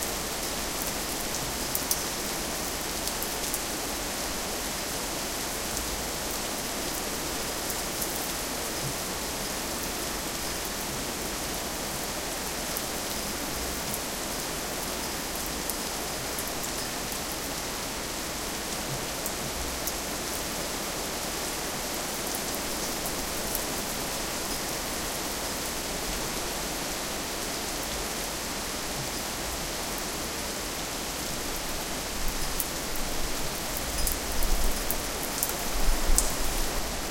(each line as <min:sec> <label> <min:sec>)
0:00.0 heavy rain 0:37.1